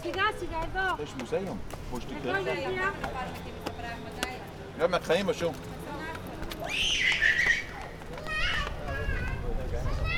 tourists 0.0 - 10.1

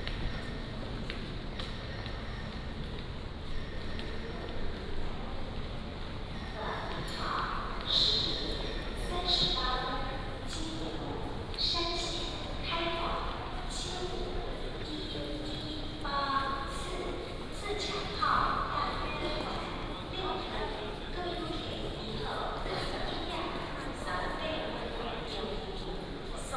Station Message Broadcast 6.4 - 24.9

